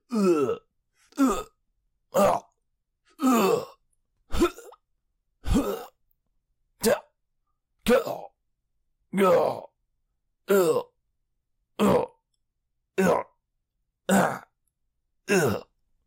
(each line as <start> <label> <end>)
3.2 Various male grunts 4.8
9.2 Various male grunts 9.7